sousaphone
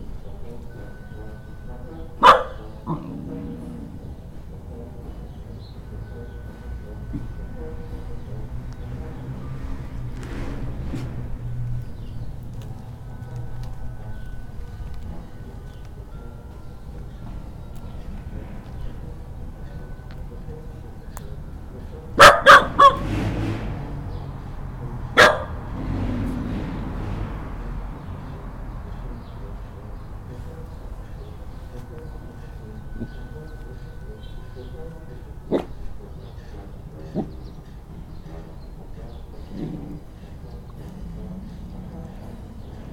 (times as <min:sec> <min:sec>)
0:00.0 0:09.8, 0:12.6 0:23.1, 0:29.2 0:40.2